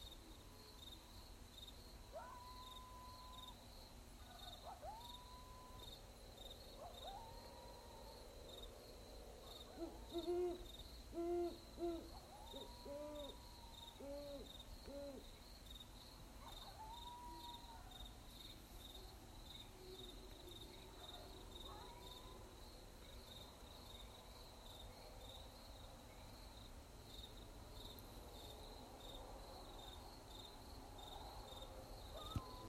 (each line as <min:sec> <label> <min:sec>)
0:02.1 coyote howl 0:03.4
0:04.5 coyote howl 0:06.0
0:09.6 coyote howl 0:15.2
0:16.5 coyote howl 0:18.0
0:32.1 coyote howl 0:32.6
0:32.2 owls and their calls 0:32.6